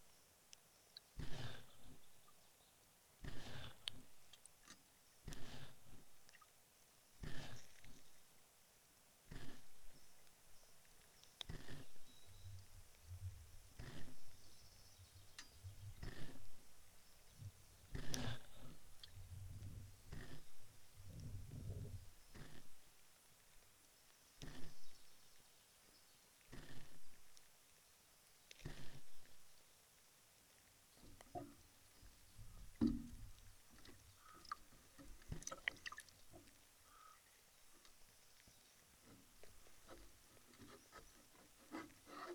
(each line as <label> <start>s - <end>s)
pontoon bridge 31.0s - 42.3s